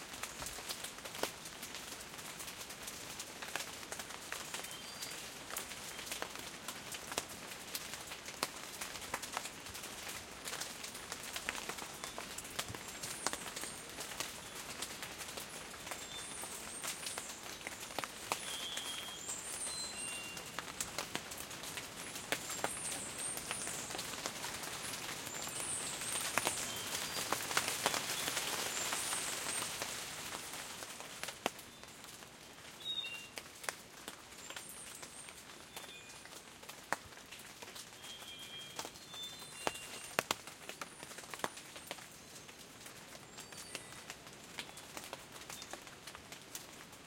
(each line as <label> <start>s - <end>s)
rain 0.0s - 47.0s
wind 0.0s - 47.0s
birds 10.5s - 21.1s
birds 22.0s - 30.6s